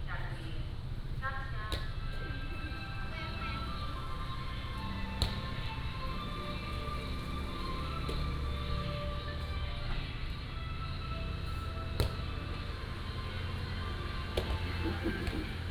Traffic Sound 0:02.8 - 0:15.7

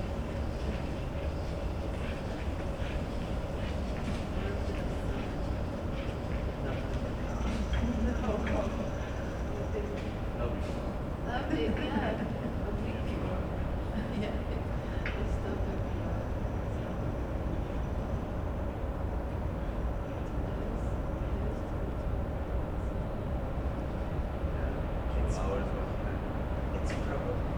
people waiting 0:00.0 - 0:15.9
city hum 0:00.0 - 0:27.5

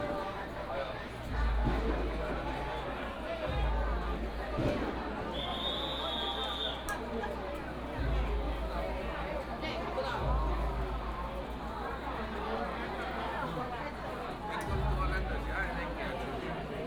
Walking through the alley 0:00.0 - 0:16.8
firecrackers 0:04.6 - 0:06.5

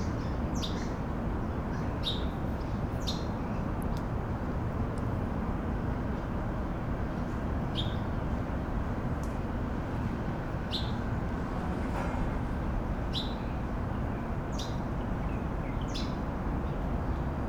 Traffic Sound 0:07.5 - 0:15.6

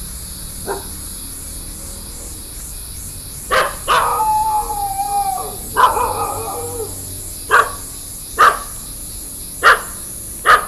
Cicada sounds 0:00.0 - 0:10.6
birds 0:00.0 - 0:10.6
traffic sound 0:00.0 - 0:10.6
Walking in a small way 0:00.1 - 0:10.6
Dogs barking 0:00.6 - 0:01.1
Dogs barking 0:03.4 - 0:09.0
Dogs barking 0:09.6 - 0:10.6

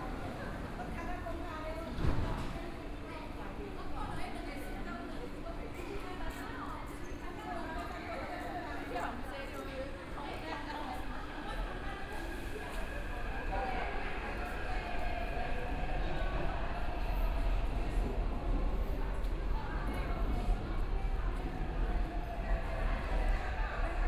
Pedestrians on the road 0:00.0 - 0:24.0

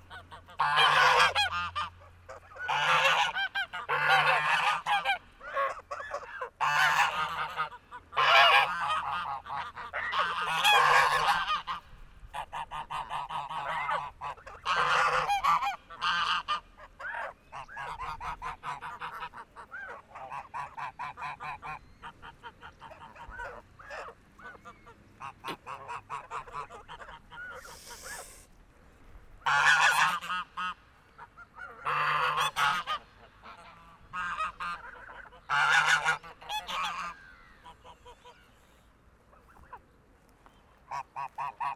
Angry geese 0:00.0 - 0:28.5
Angry geese 0:29.4 - 0:38.4

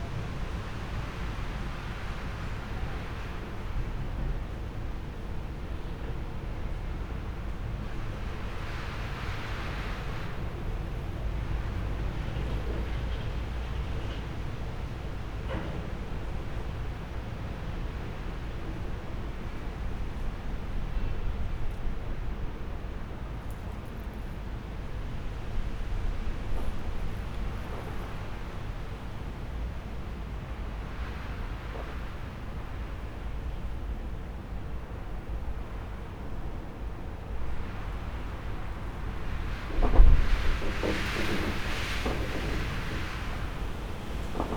strong wind with rain 0:00.0 - 0:44.5
wind 0:00.0 - 0:44.5
thunder 0:39.1 - 0:44.5

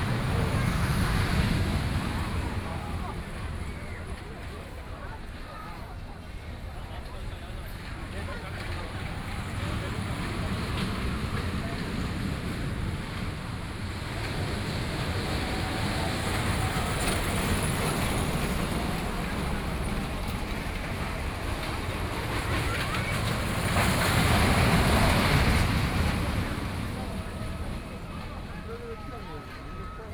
Crowd 0:00.0 - 0:30.1

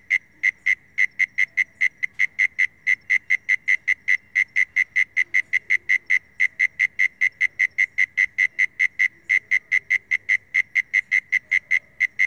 call of a Mole cricket 0:00.0 - 0:12.2

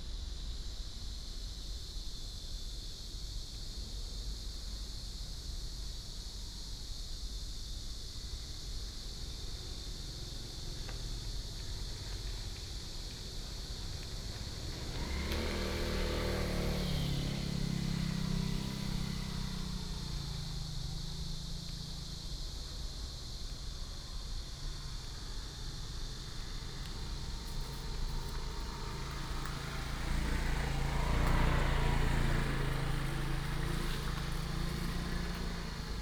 Cicadas 0:00.0 - 0:36.0
Traffic sound 0:12.1 - 0:36.0

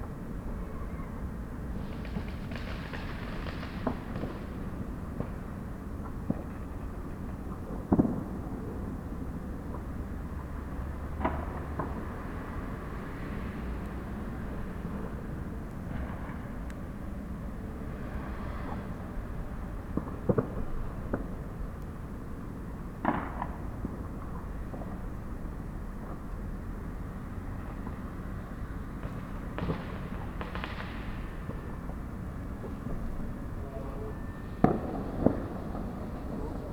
bon fires 0:01.6 - 0:36.7

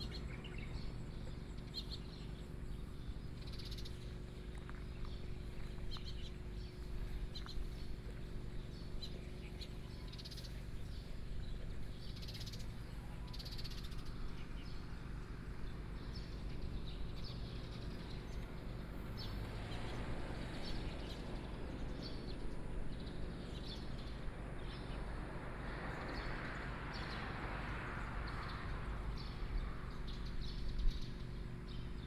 Birdsong 0:00.0 - 0:32.0
Traffic Sound 0:00.0 - 0:32.0

